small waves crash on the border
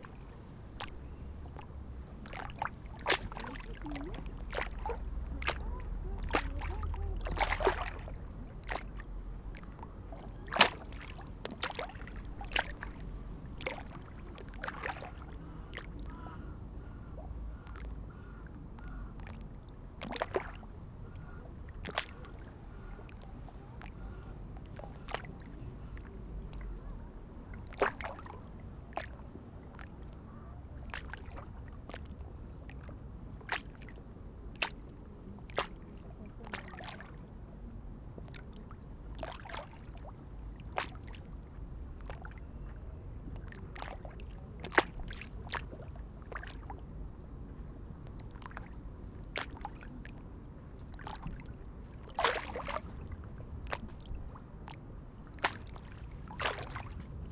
0:00.0 0:16.1, 0:50.9 0:57.3

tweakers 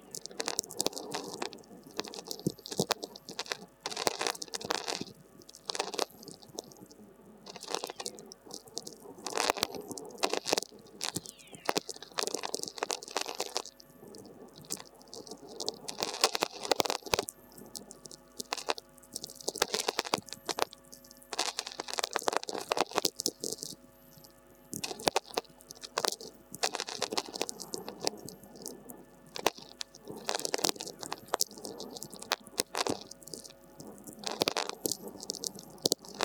0:11.0 0:13.1

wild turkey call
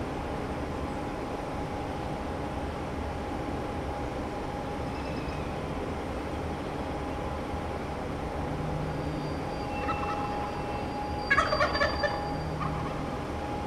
0:09.6 0:13.1

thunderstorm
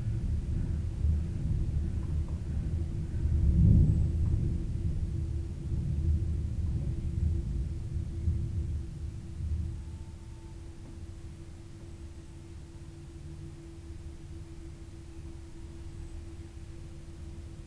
0:00.0 0:10.0

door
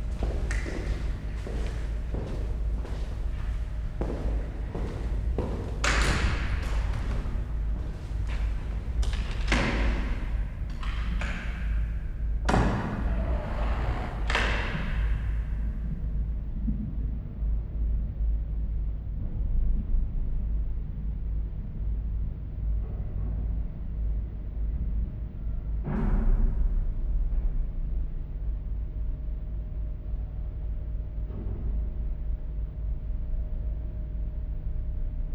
0:00.1 0:11.8, 0:12.5 0:15.4

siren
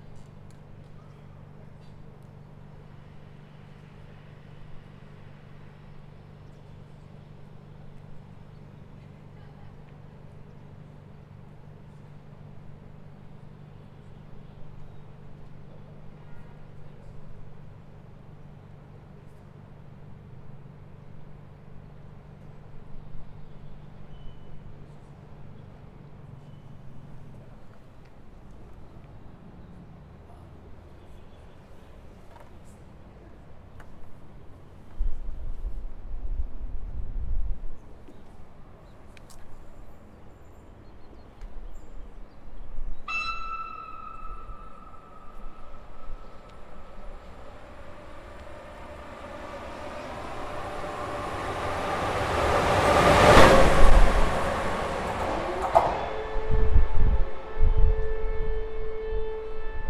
0:43.1 0:53.2

